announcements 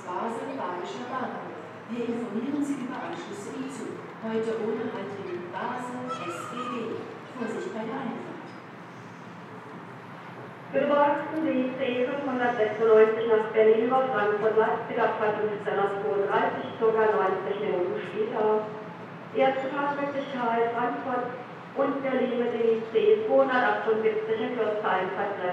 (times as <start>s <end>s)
0.0s 8.3s